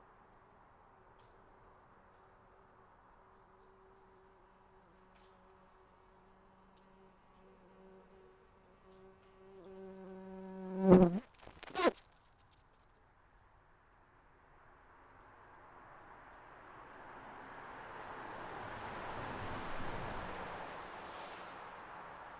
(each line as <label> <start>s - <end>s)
bumbkebees fly to the crack 6.8s - 12.6s